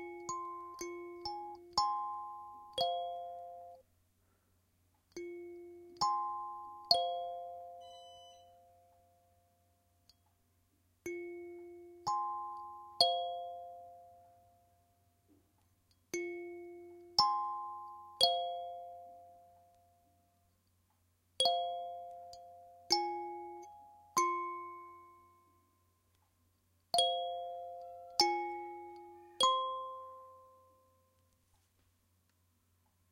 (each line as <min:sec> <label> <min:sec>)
0:00.0 kalimba 0:03.8
0:27.0 kalimba 0:30.5